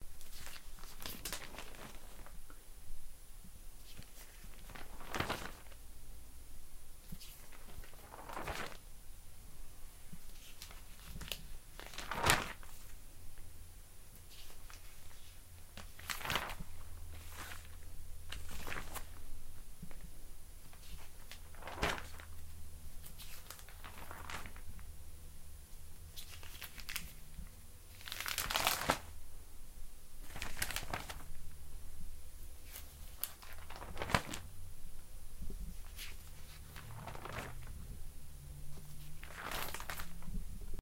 Scrolling through book 3.8 - 5.8
Scrolling through book 7.1 - 8.8
Scrolling through book 10.2 - 13.0
Scrolling through book 14.2 - 20.0
Scrolling through book 20.7 - 24.8
Scrolling through book 30.2 - 31.6
Scrolling through book 32.6 - 34.5
Scrolling through book 35.5 - 38.0
Scrolling through book 38.6 - 40.6

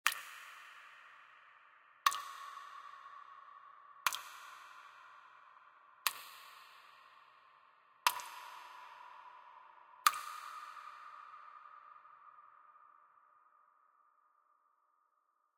Water drips 0.0 - 1.4
Water drips 2.0 - 7.4
Water drips 8.0 - 12.6

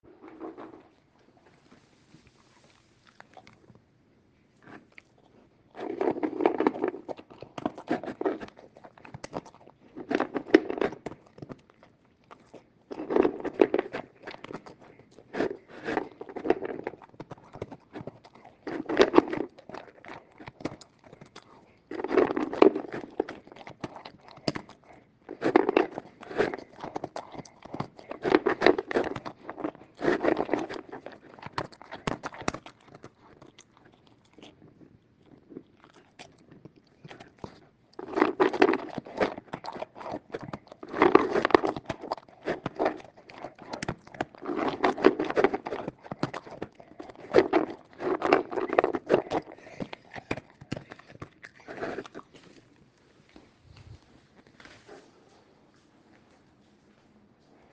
german shepherd eating dog food 0.0 - 57.7

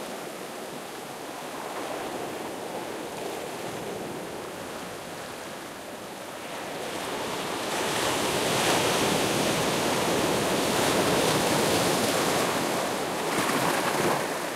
waves coming to the beach 0.0 - 14.5

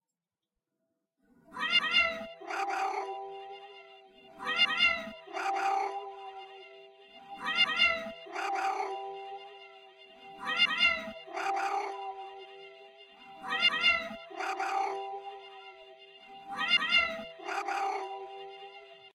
Trippy cats ringtone 1.6 - 3.1
Trippy cats ringtone 4.4 - 6.0
Trippy cats ringtone 7.4 - 9.0
Trippy cats ringtone 10.4 - 12.1
Trippy cats ringtone 13.4 - 15.0
Trippy cats ringtone 16.4 - 18.3

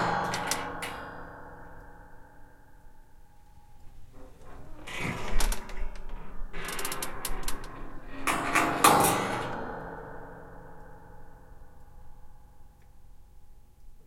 Attic door creaking 0.0 - 1.3
Attic door creaking 3.7 - 10.8

